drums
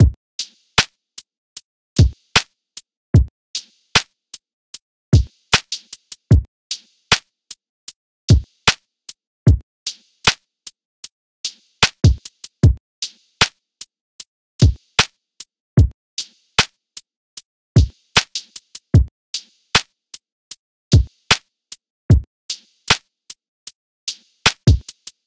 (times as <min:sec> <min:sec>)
0:00.0 0:01.0, 0:02.0 0:02.5, 0:03.2 0:04.1, 0:05.2 0:07.3, 0:08.3 0:10.4, 0:11.4 0:13.6, 0:14.6 0:16.8, 0:17.8 0:19.9, 0:20.9 0:23.1, 0:24.1 0:25.2